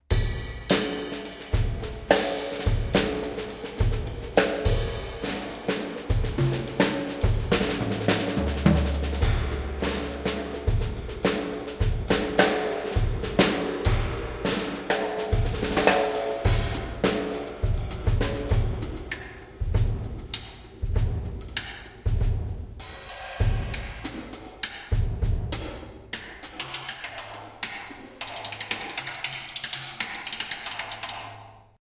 0.7s noodling on the drumset 25.8s

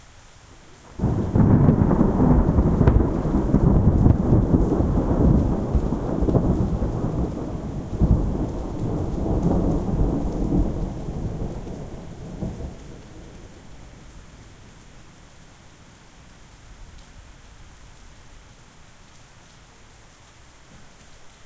0.0s rain 21.4s
1.0s very loud and impressive thunder cracks 13.5s

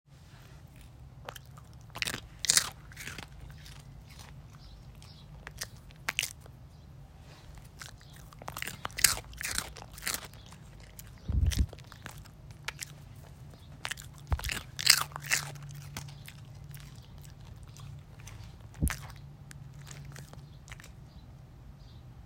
0.6s Dog Chewing Eating 21.2s

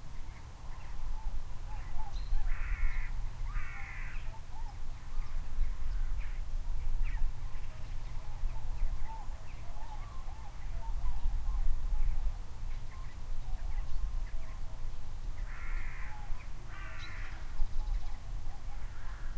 0.4s birds arguing 6.4s
15.4s birds arguing 19.3s

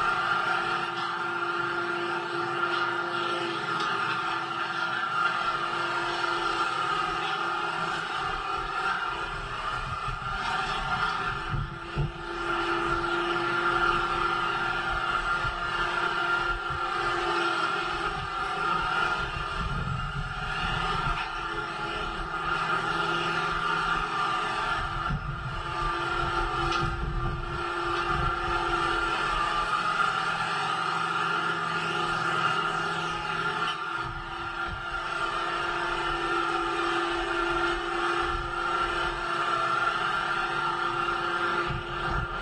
9.2s wind noise 13.1s
19.2s wind noise 21.4s
24.8s wind noise 29.4s
41.7s wind noise 42.4s

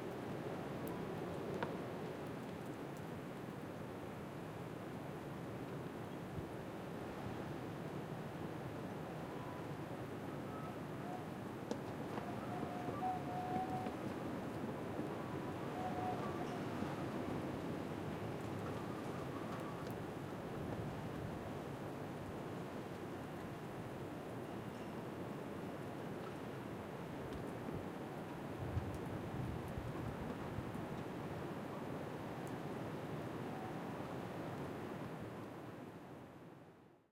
5.5s sea 26.9s
6.2s WIND FLAGPOLE 36.0s

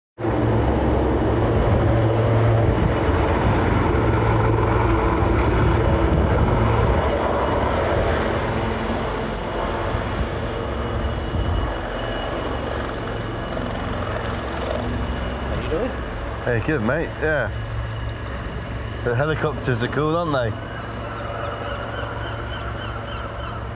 0.2s Helicopter flyby overhead 23.7s
15.6s talking 17.6s
19.0s talking 20.6s

